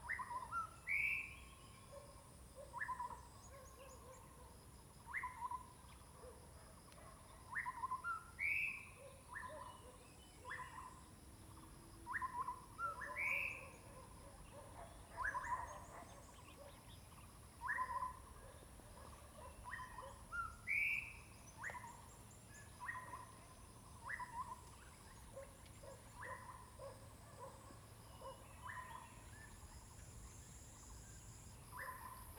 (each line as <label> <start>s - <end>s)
Birds singing 7.2s - 32.3s
Dogs barking 13.7s - 16.8s
Dogs barking 25.4s - 29.0s